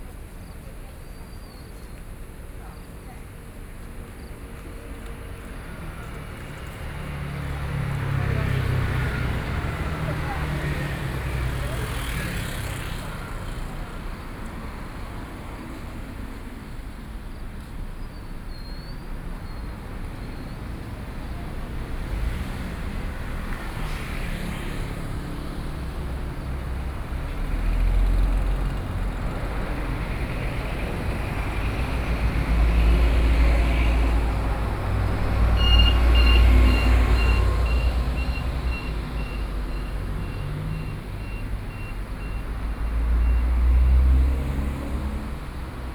Traffic Sound 0.0 - 45.9

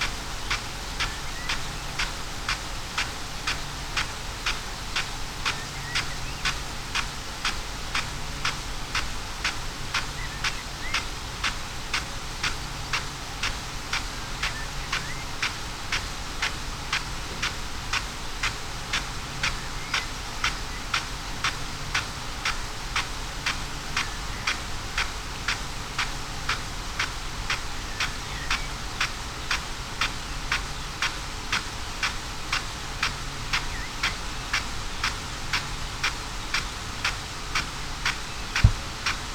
field irrigation system 0.0 - 39.3

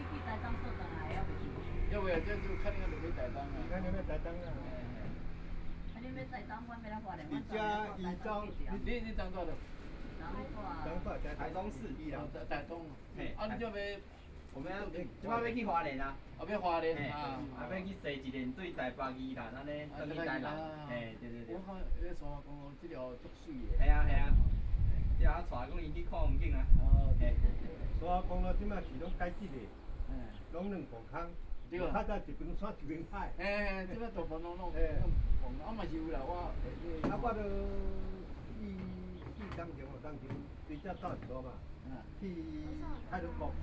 Traffic Sound 0.0 - 15.2
Traffic Sound 27.3 - 43.6

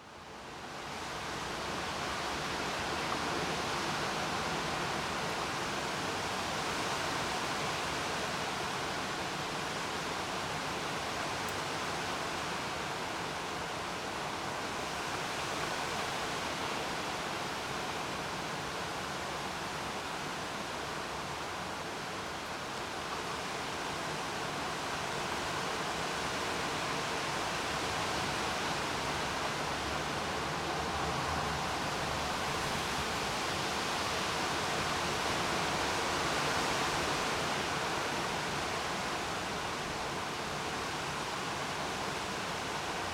rain 0.0 - 43.1
heavy wind 12.3 - 43.1

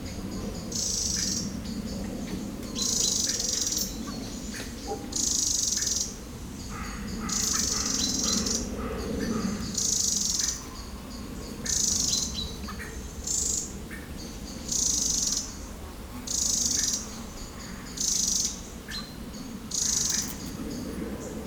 Blackbirds fighting 0.0 - 21.4
mosquitoes 14.6 - 21.4

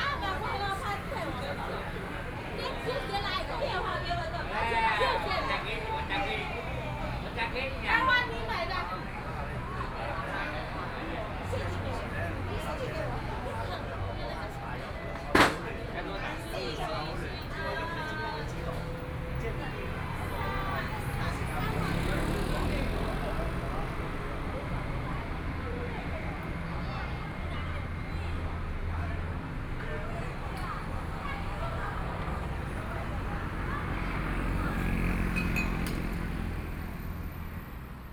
Traffic Sound 0.0 - 38.1

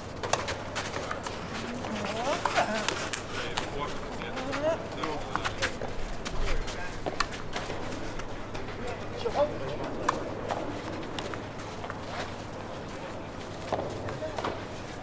Tennis court action 0.1 - 15.0

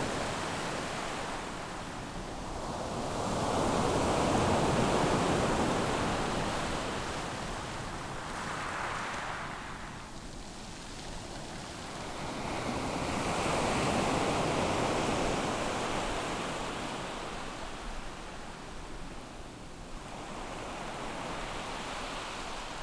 waves 0.0 - 22.8

